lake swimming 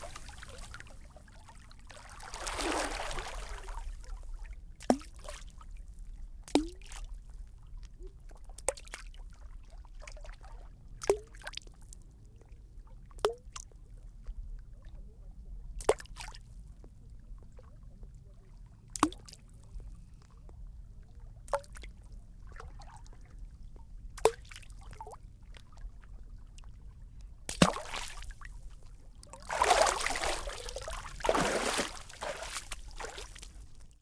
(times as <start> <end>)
0.0 4.0, 27.5 28.4, 29.3 34.0